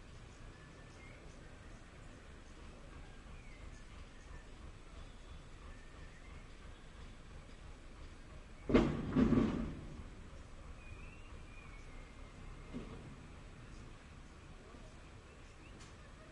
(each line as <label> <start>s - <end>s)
Dump Truck Motor 2.7s - 14.0s